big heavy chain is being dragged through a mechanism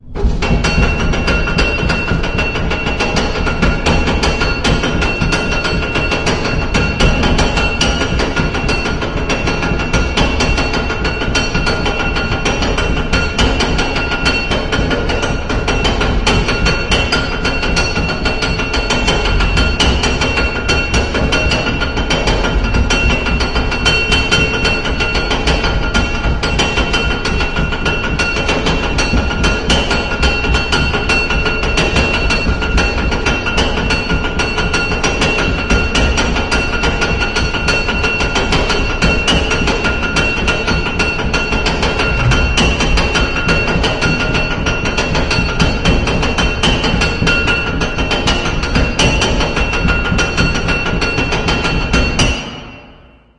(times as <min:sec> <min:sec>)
0:42.0 0:44.5